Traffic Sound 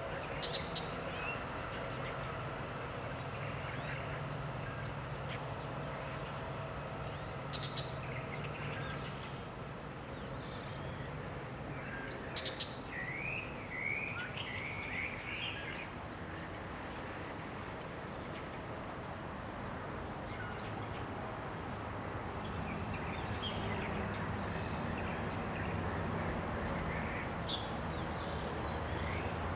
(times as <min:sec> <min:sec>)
0:20.9 0:29.5